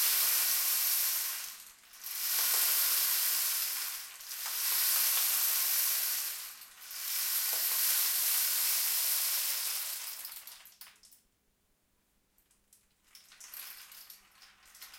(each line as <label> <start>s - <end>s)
rainstick 0.0s - 10.6s